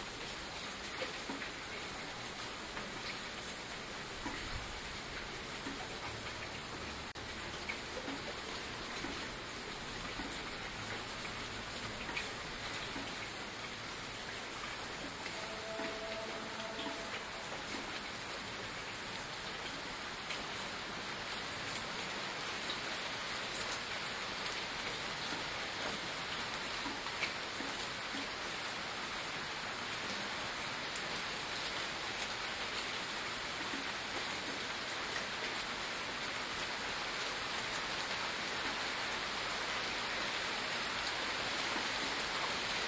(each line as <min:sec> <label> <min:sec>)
0:00.0 Rain 0:42.8